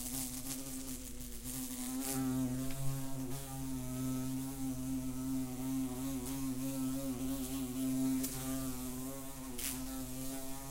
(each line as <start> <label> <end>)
0.0 wasp 10.7